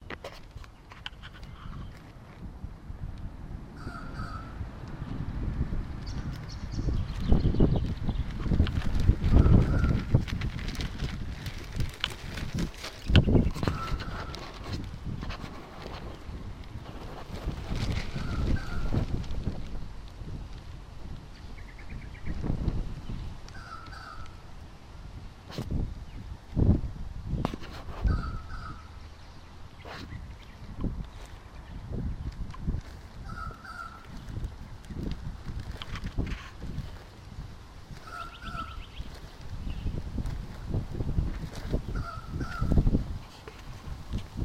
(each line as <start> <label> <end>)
3.8 weird-sounding squawking bird 4.6
13.4 weird-sounding squawking bird 14.4
23.5 weird-sounding squawking bird 24.4
28.1 weird-sounding squawking bird 29.1
33.2 weird-sounding squawking bird 34.1
38.0 weird-sounding squawking bird 39.1
41.8 weird-sounding squawking bird 42.8